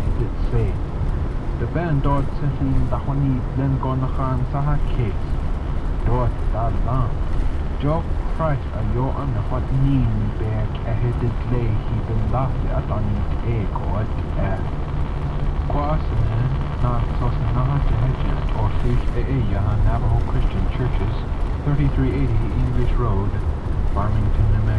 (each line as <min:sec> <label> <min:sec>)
0:00.0 Navaho radio 0:24.7